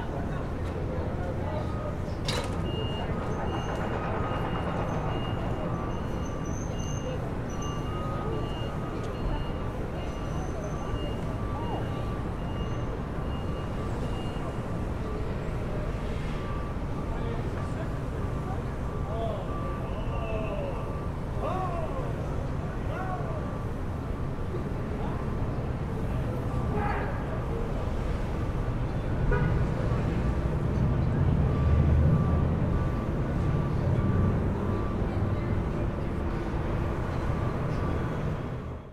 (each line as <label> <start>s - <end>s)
roadies unloading equipment 0.0s - 38.9s